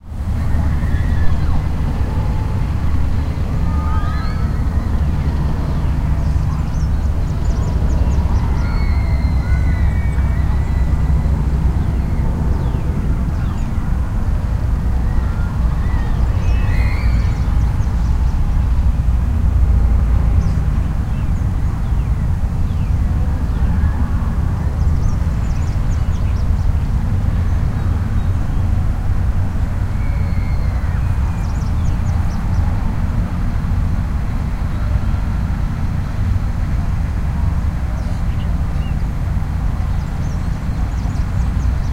slight breeze 0.0 - 41.9
traffic (auto and train) 0.0 - 41.9
birdsong 0.0 - 37.1
screams 0.4 - 13.7
screams 14.9 - 18.2
screams 29.7 - 32.1
birdsong 37.7 - 41.9

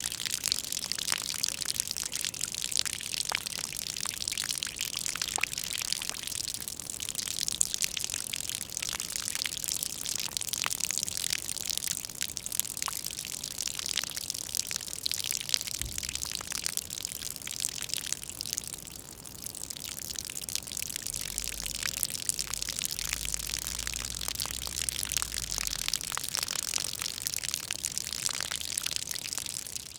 Water sound striking on a water surface 15.8 - 16.6

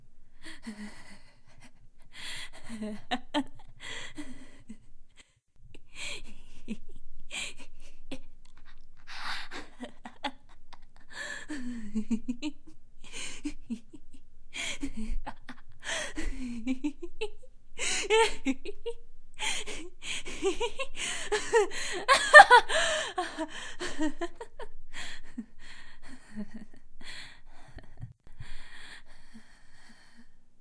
Woman Insane Giggles 9.5 - 12.7
Woman Insane Giggles 20.2 - 24.7

